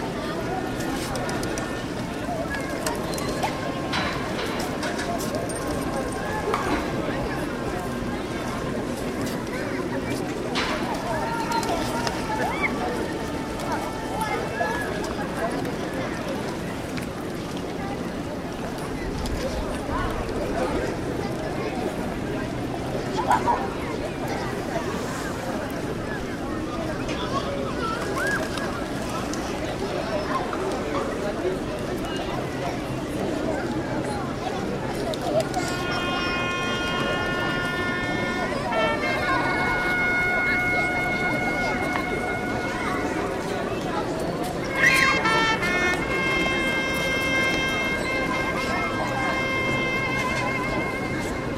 crowd’s rumor 0.0 - 51.5
trompet player blows 4 times 35.8 - 43.4
trompet player blows 4 times 44.7 - 51.5

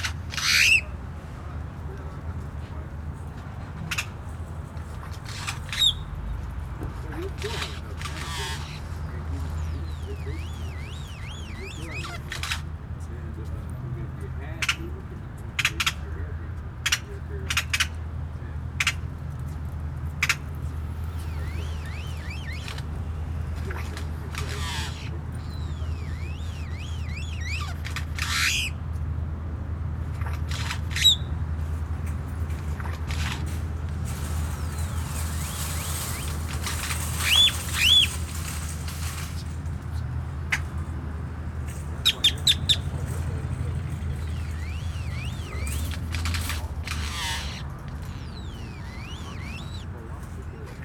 Solitary male Grackle calls 0.0 - 1.0
Traffic sounds 0.0 - 50.8
store employees smoking and talking 0.0 - 50.8
Solitary male Grackle calls 3.6 - 12.8
Solitary male Grackle calls 14.5 - 19.4
Solitary male Grackle calls 20.1 - 29.1
Solitary male Grackle calls 30.0 - 31.5
Solitary male Grackle calls 34.2 - 39.2
Solitary male Grackle calls 42.0 - 50.8

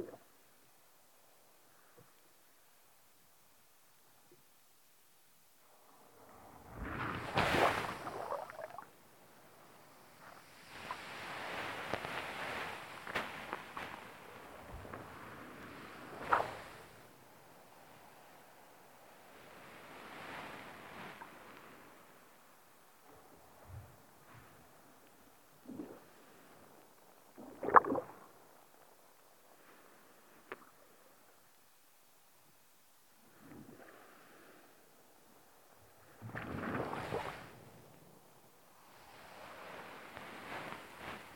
sea turning the sand about on its bed 0.0 - 2.7
sea turning the sand about on its bed 5.6 - 41.3

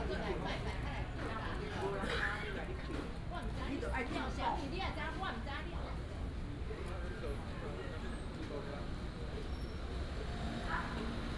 Chatting between the vendors and the people 0.0 - 11.3

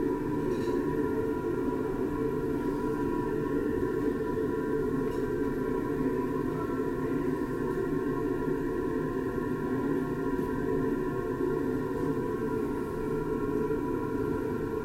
corridor air condition 0.0 - 14.8

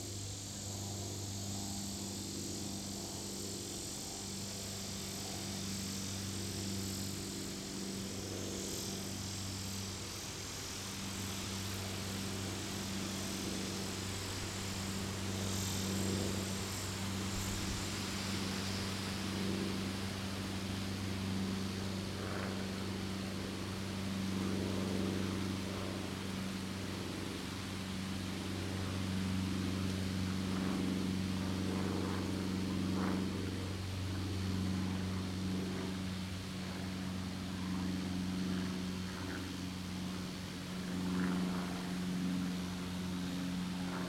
Symphony of cicadas 0.0 - 44.0
airplanes 0.0 - 44.0

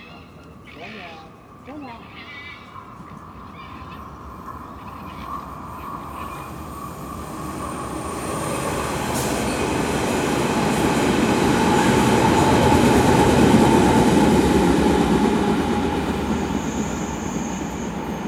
Foxes playing 0.0 - 7.8

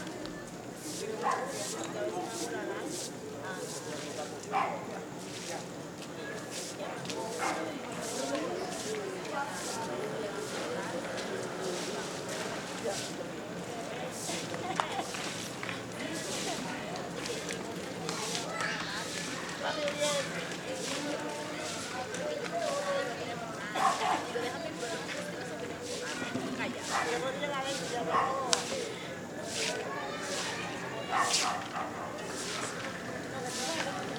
somebody sweeping the street 0.2 - 34.1

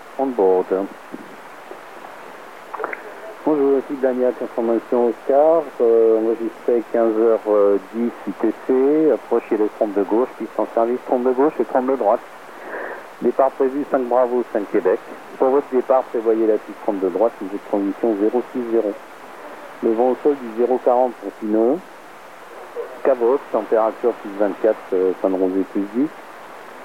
radio wave scanner 2.7 - 26.8

